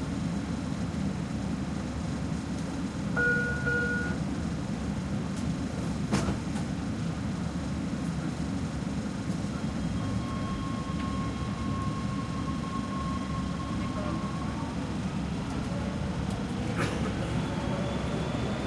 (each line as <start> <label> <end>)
0.0 riding the L.A Subway 18.6